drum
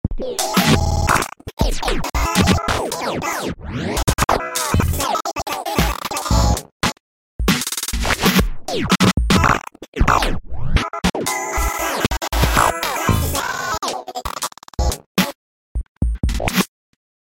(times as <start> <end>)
0.4 2.8, 5.6 10.2, 11.6 13.4, 14.8 16.7